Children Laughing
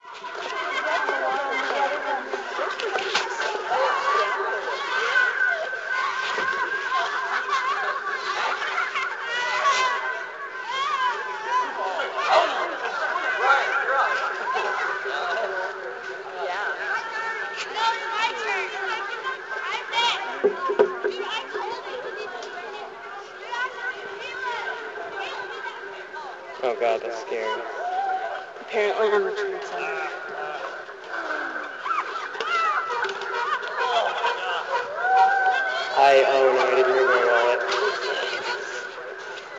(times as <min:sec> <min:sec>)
0:00.3 0:15.9, 0:30.1 0:36.0